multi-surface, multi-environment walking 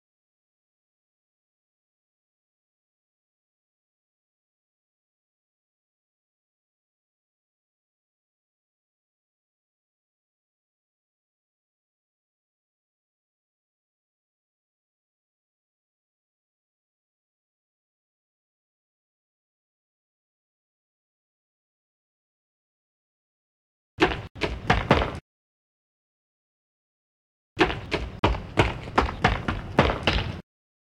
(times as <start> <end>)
24.0 25.2, 27.6 30.4